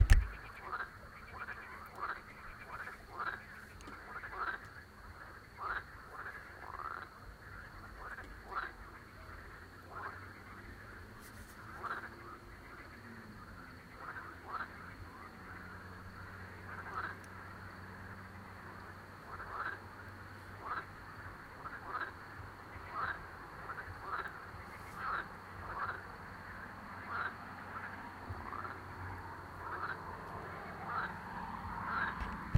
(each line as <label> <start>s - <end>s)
Babble of Frogs 0.0s - 32.5s
insects 0.0s - 32.5s
cars 9.0s - 32.5s